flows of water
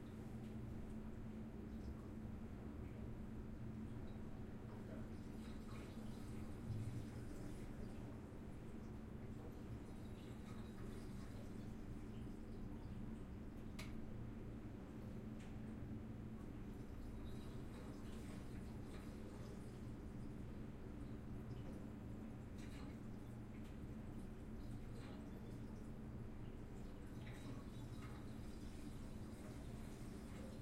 3.8s 13.7s, 16.5s 30.6s

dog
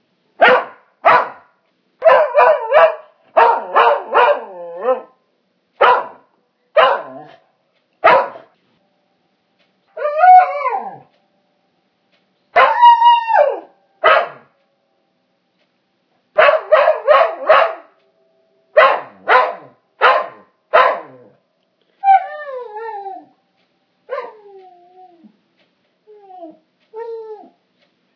0.4s 1.4s, 6.8s 8.5s, 14.0s 14.5s, 16.4s 17.9s, 18.8s 21.4s

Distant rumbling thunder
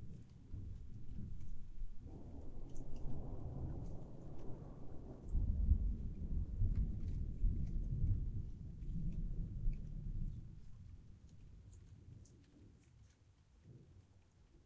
0.0s 11.4s

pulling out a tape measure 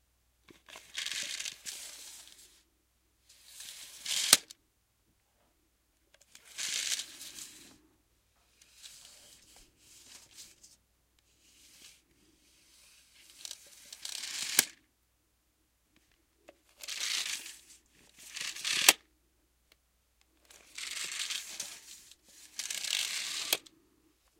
3.4s 4.5s, 6.2s 7.7s, 13.3s 14.8s, 16.8s 19.0s, 20.5s 23.7s

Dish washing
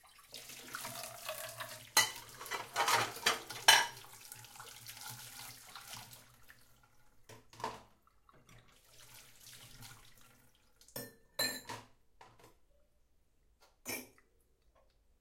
0.0s 11.9s

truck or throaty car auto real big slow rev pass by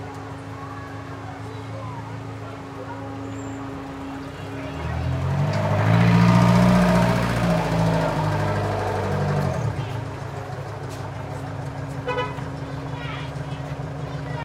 3.1s 14.3s

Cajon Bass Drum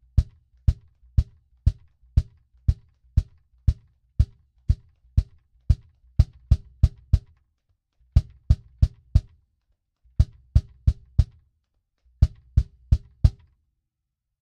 0.0s 7.4s, 8.1s 9.4s, 10.2s 11.4s, 12.2s 13.5s

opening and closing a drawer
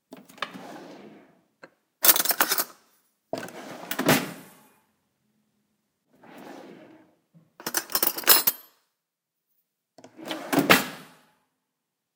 0.1s 1.4s, 2.0s 2.8s, 3.4s 4.6s, 6.1s 8.6s, 10.0s 11.2s

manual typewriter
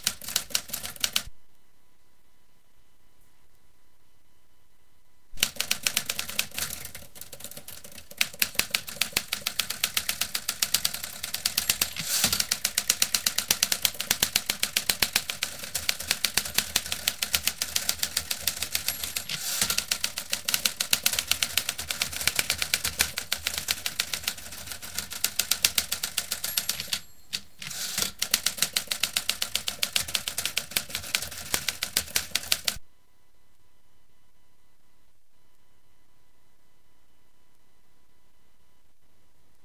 0.0s 1.3s, 5.4s 32.8s

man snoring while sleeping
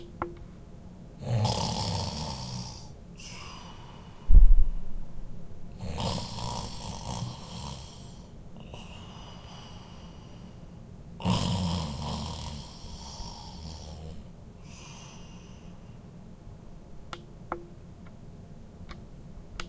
1.2s 3.8s, 5.8s 9.8s, 11.2s 15.4s

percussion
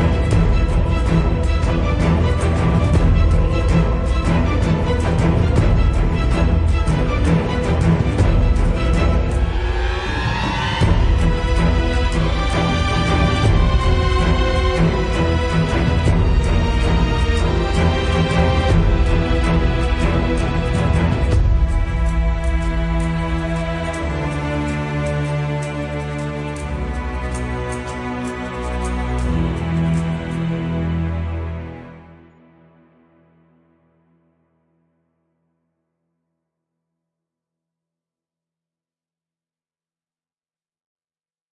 0.0s 32.3s

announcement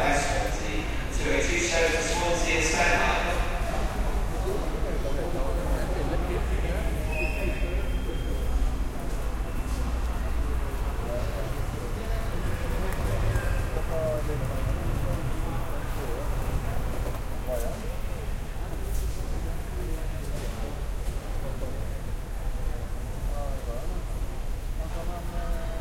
0.0s 5.1s

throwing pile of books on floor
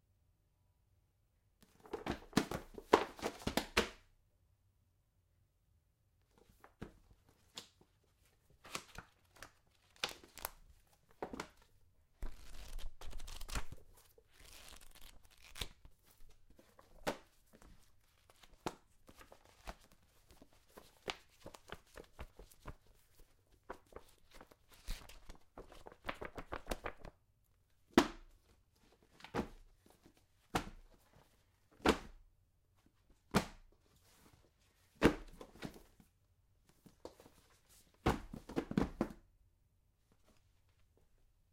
1.7s 4.0s, 29.2s 29.7s, 31.8s 32.2s, 34.9s 36.0s, 36.8s 39.2s

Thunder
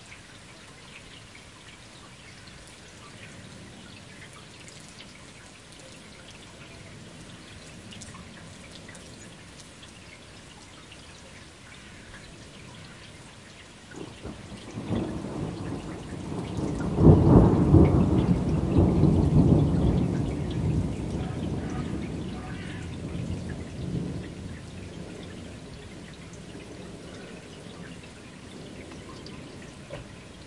14.0s 27.9s

